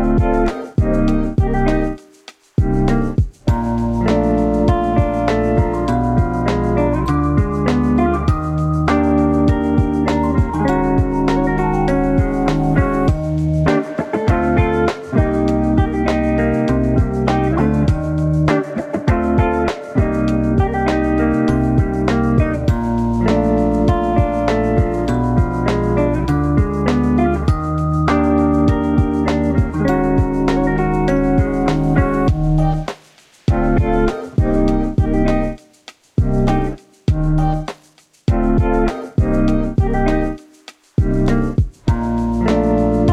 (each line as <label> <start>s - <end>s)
bass 0.0s - 2.0s
beat 0.0s - 43.1s
guitar 0.0s - 43.1s
bass 2.6s - 13.7s
bass 14.3s - 32.9s
bass 33.5s - 35.6s
bass 36.2s - 37.7s
bass 38.3s - 40.4s
bass 41.0s - 43.1s